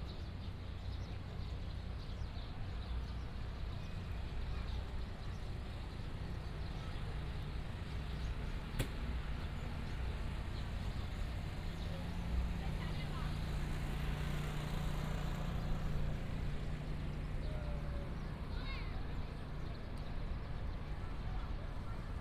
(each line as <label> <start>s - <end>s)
Pedestrians on the road 0.0s - 22.2s
Traffic Sound 6.7s - 20.8s